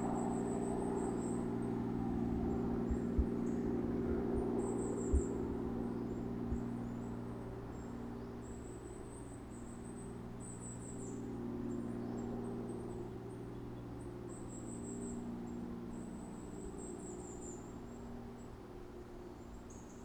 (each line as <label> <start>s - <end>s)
Helicopter flies over wood 0.0s - 20.0s